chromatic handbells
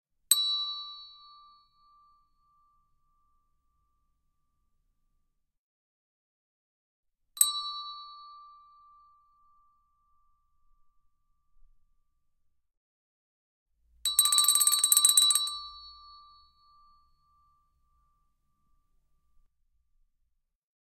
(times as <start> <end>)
14.1 16.2